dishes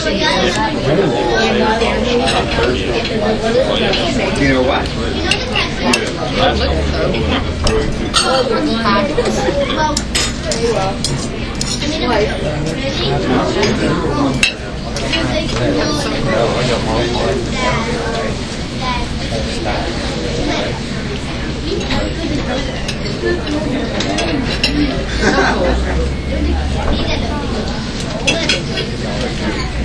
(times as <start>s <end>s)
21.8s 25.3s